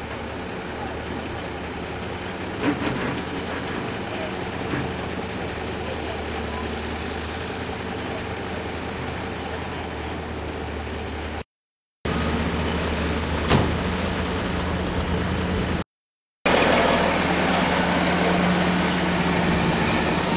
excavator 0:00.0 - 0:11.5
truck 0:00.0 - 0:20.3
excavator 0:12.1 - 0:15.8
excavator 0:16.5 - 0:20.3

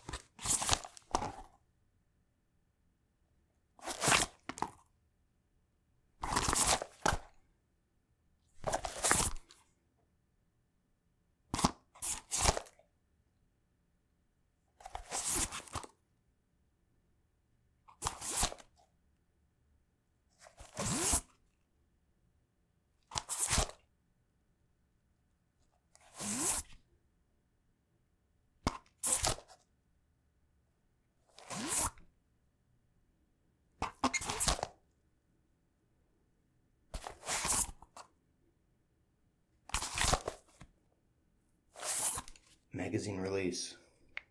velcro 0:00.0 - 0:01.6
unzip 0:00.0 - 0:01.6
fabric 0:03.8 - 0:04.8
unzip 0:03.8 - 0:04.8
velcro 0:03.8 - 0:04.8
velcro 0:06.2 - 0:07.4
velcro 0:08.6 - 0:09.7
velcro 0:11.5 - 0:12.8
velcro 0:14.8 - 0:16.0
velcro 0:17.9 - 0:18.8
fabric 0:20.4 - 0:21.4
unzip 0:20.4 - 0:21.4
velcro 0:20.4 - 0:21.4
unzip 0:23.0 - 0:23.8
velcro 0:23.0 - 0:23.9
unzip 0:25.9 - 0:26.8
velcro 0:25.9 - 0:26.8
fabric 0:26.0 - 0:26.8
velcro 0:28.6 - 0:29.7
unzip 0:31.3 - 0:32.1
velcro 0:31.3 - 0:32.1
fabric 0:31.3 - 0:32.0
unzip 0:33.8 - 0:34.8
velcro 0:33.8 - 0:34.8
velcro 0:36.9 - 0:38.1
unzip 0:36.9 - 0:38.2
velcro 0:39.7 - 0:40.7
fabric 0:41.7 - 0:42.6
unzip 0:41.7 - 0:42.7
velcro 0:41.7 - 0:42.6

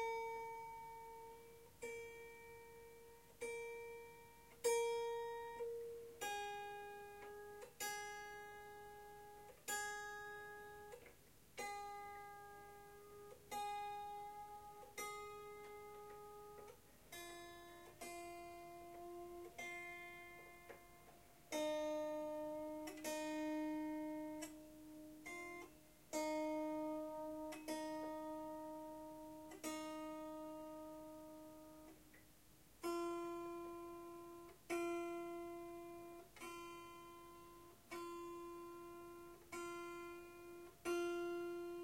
in-tune strums and tinkles 0:00.0 - 0:32.0
tuning of the Swarmandal's 15 strings 0:00.0 - 0:32.2
out of tune strum 0:00.0 - 0:41.8
tuning of the Swarmandal's 15 strings 0:32.8 - 0:41.8

